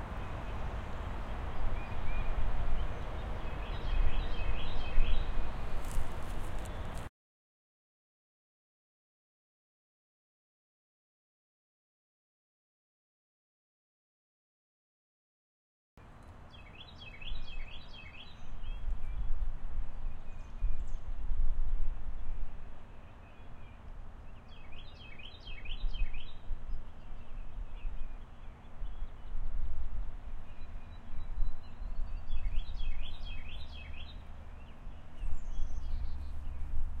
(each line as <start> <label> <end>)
0.0 several wind ruffles 7.1
0.2 occasional bird chirp 6.0
16.5 occasional bird chirp 19.3
22.9 occasional bird chirp 29.4
30.5 occasional bird chirp 36.8